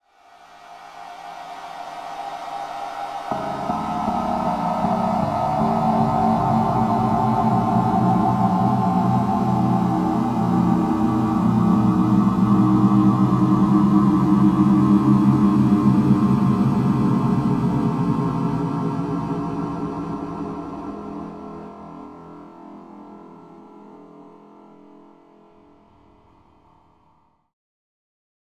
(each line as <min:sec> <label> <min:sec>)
0:02.2 drone 0:21.8